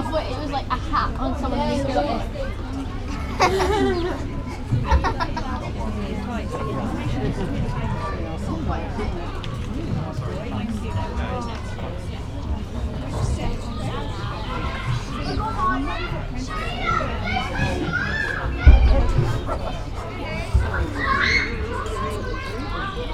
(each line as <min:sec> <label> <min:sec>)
0:00.0 Voices 0:23.1